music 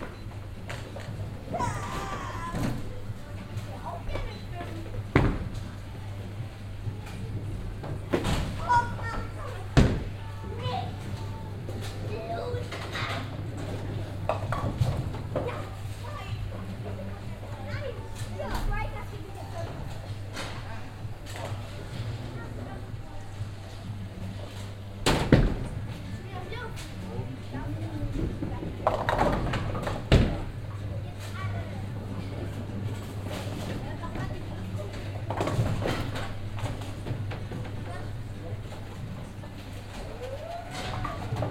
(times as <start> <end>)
0.0 30.7